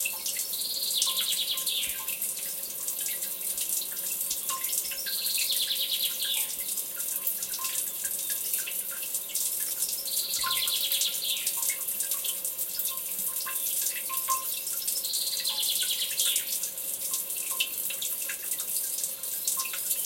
0.0s Water Fountain 20.0s

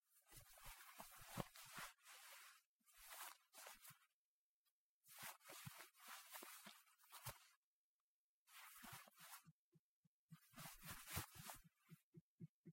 0.2s cloth movement 4.1s
5.1s cloth movement 7.6s
8.5s cloth movement 9.5s
10.4s cloth movement 11.7s

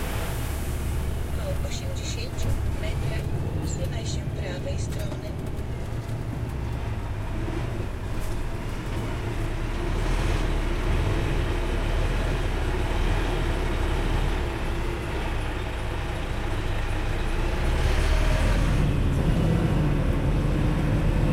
0.0s forklift 21.3s
0.0s truck engine 21.3s
1.2s Truck driver and navigation voices 5.8s

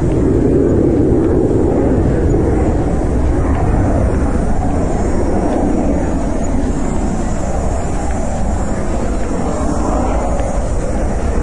0.0s Airshow 11.4s
0.0s Cicadas 11.4s

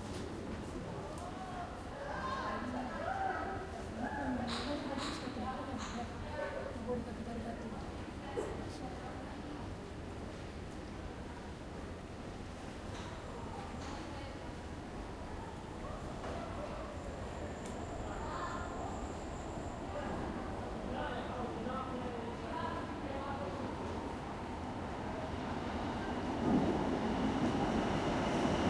9.4s Trains entering/leaving 28.6s

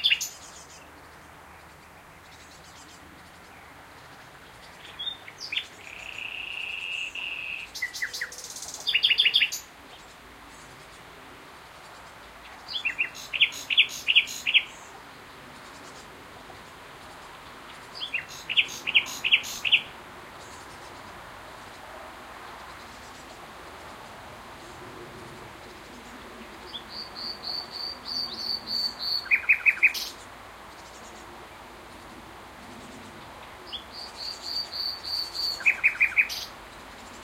0.0s nightingale was singing its beautiful song 24.1s
25.4s nightingale was singing its beautiful song 37.2s

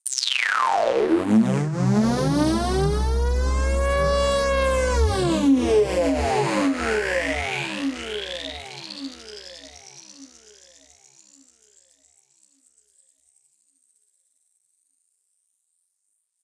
0.1s synth 9.8s

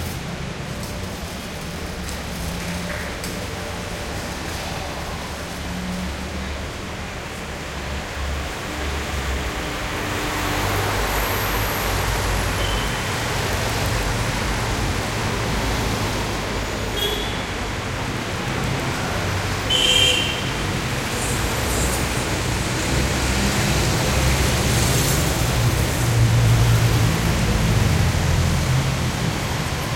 0.0s trucks passing by 29.9s

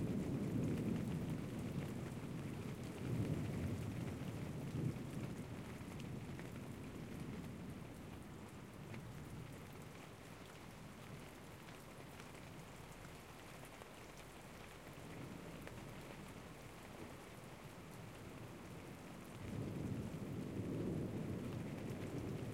0.0s thunder 7.6s
0.0s rain 22.5s
19.2s thunder 22.5s

